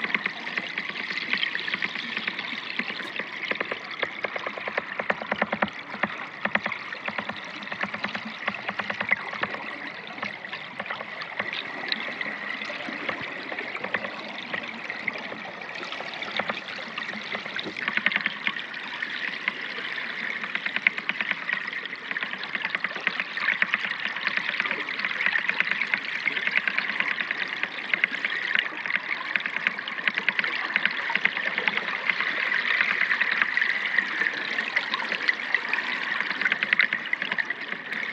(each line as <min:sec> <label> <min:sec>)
0:00.0 Underwater River Sounds 0:38.1